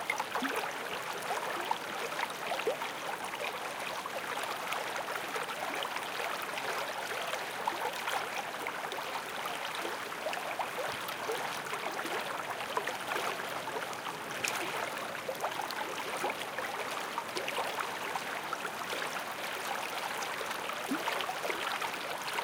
Murmuring Stream 0:00.0 - 0:22.4

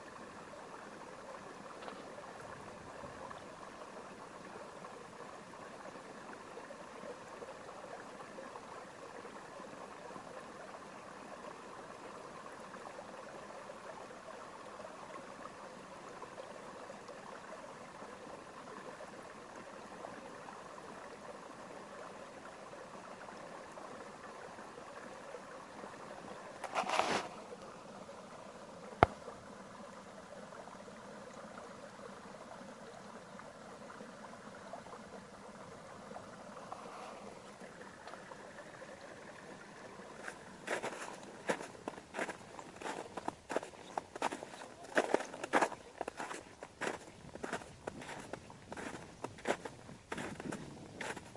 streams of water appearing from the melting snow 0:00.0 - 0:51.3
walking in snow 0:26.6 - 0:27.4
walking in snow 0:40.2 - 0:51.3

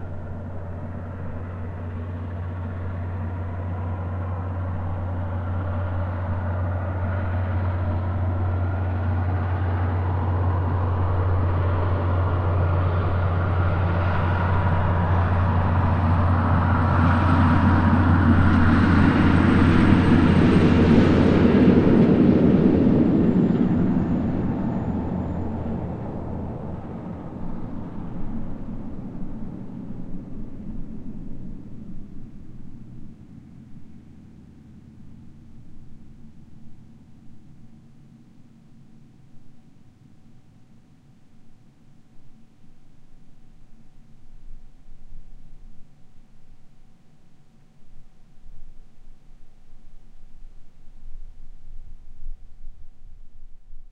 Road Train 0:00.0 - 0:39.3

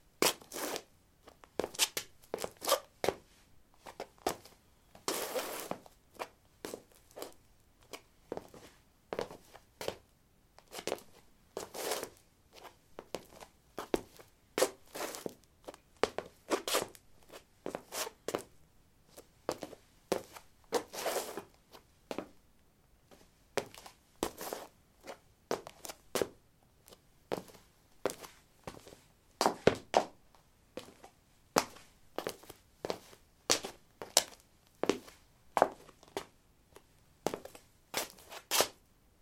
highheels shuffle 0:00.2 - 0:10.0
highheels shuffle 0:10.6 - 0:18.5
highheels shuffle 0:19.2 - 0:22.4
highheels shuffle 0:23.1 - 0:30.2
highheels shuffle 0:30.8 - 0:38.8

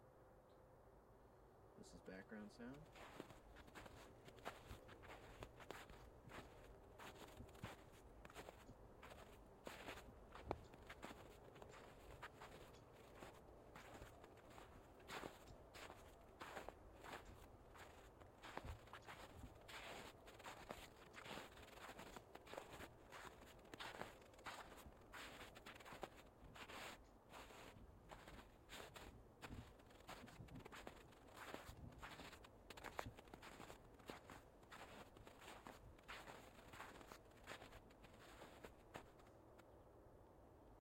Walking in the snow in tennis shoes 0:02.4 - 0:39.6

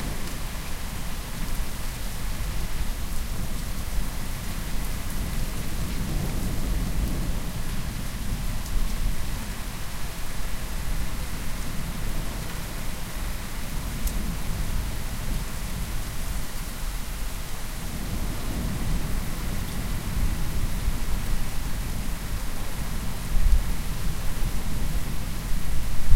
Distant, strong rain 0:00.0 - 0:26.1

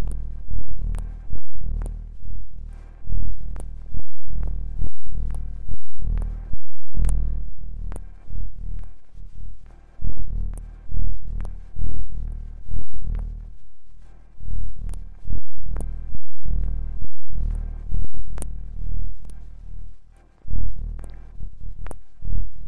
ambient droning noisescape 0:00.0 - 0:22.6

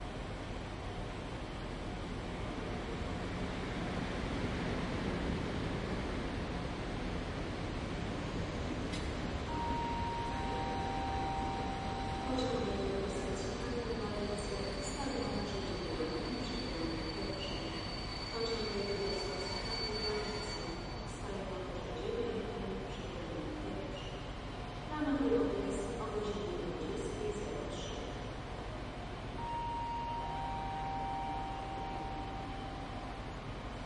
trains 0:00.0 - 0:33.8

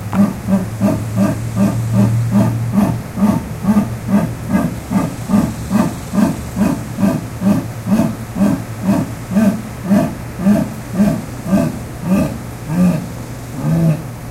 jaguar roaring 0:00.0 - 0:14.3

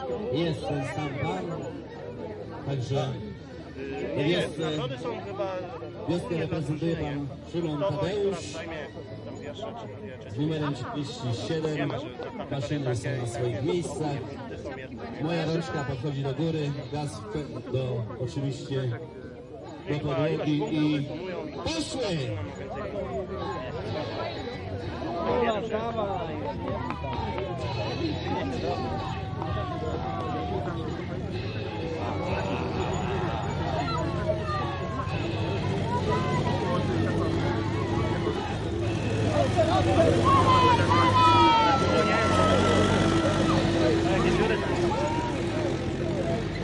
tractor race 0:00.0 - 0:46.6

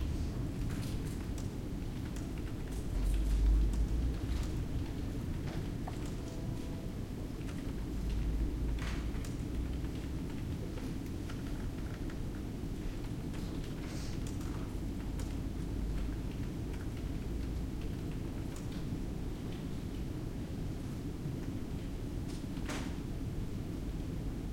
ventilation system 0:00.0 - 0:24.5
computer keyboards and mouses 0:00.6 - 0:18.9

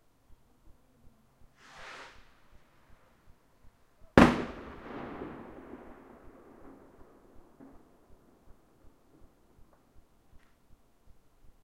single fireworks rocket 0:01.6 - 0:03.0
single fireworks rocket 0:04.2 - 0:09.9

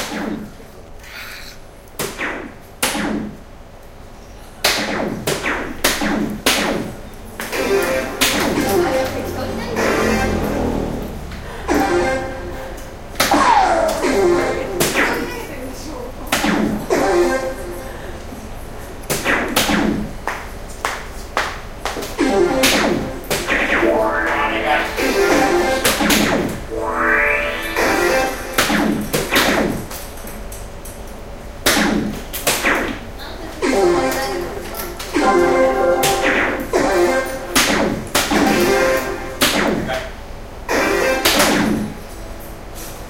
electronic darts 0:00.0 - 0:00.6
electronic darts 0:02.0 - 0:03.4
electronic darts 0:04.6 - 0:10.8
background music 0:07.4 - 0:15.4
electronic darts 0:11.7 - 0:15.3
electronic darts 0:16.3 - 0:17.9
background music 0:16.6 - 0:18.5
electronic darts 0:19.0 - 0:20.4
electronic darts 0:22.0 - 0:30.2
background music 0:22.1 - 0:29.8
electronic darts 0:31.6 - 0:40.0
background music 0:33.6 - 0:39.6
electronic darts 0:40.7 - 0:42.0

